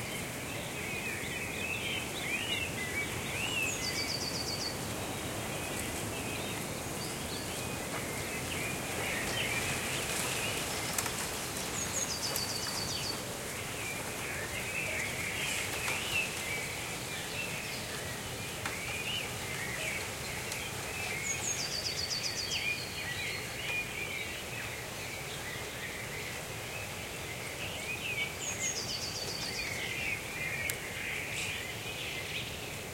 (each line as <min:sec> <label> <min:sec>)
0:00.0 birds singing 0:32.9
0:00.0 noise coming from a nearby house 0:32.9